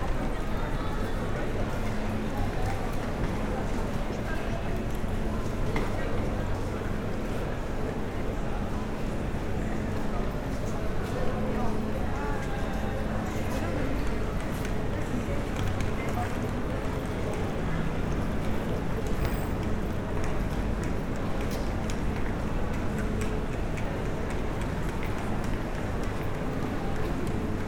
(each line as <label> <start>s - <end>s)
people talking 0.0s - 19.7s